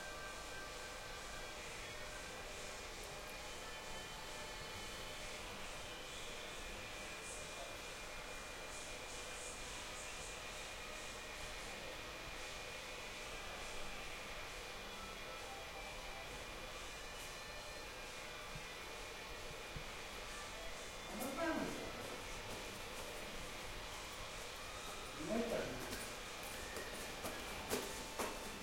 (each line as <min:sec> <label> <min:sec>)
0:14.6 construction worker renovating the new building 0:28.6